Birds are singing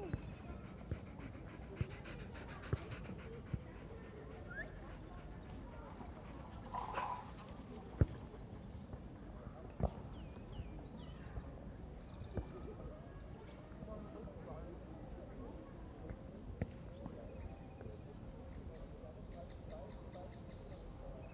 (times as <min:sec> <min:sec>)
0:00.0 0:09.0, 0:09.6 0:15.8